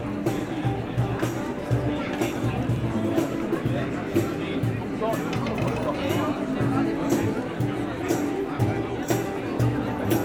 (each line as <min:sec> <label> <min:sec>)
0:00.0 very very very much tourists 0:10.2